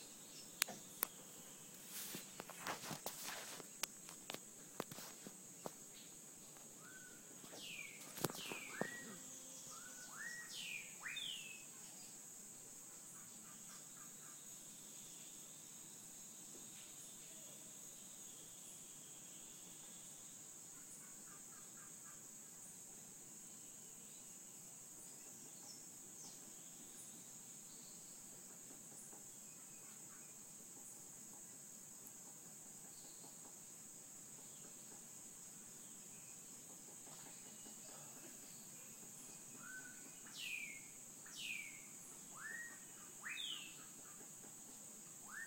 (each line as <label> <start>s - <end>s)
birds chirping 0.0s - 12.7s
insects buzzing 0.0s - 45.4s
birds chirping 34.5s - 45.4s